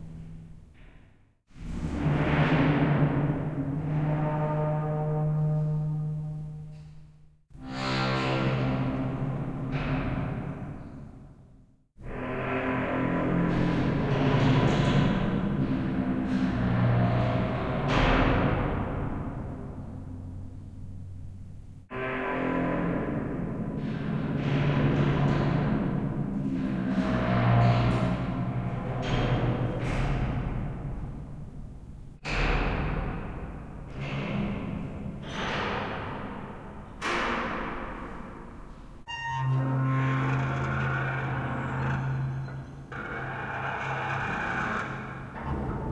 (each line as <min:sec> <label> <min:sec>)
0:39.1 screeching 0:45.4